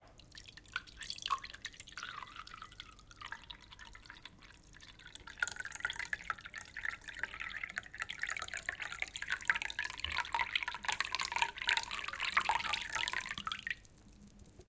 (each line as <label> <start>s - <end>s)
Light slow pouring of water into a glass 0.1s - 14.6s